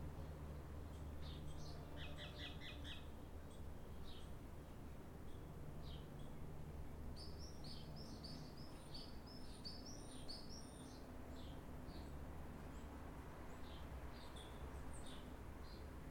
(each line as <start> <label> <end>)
0.2 birds 6.4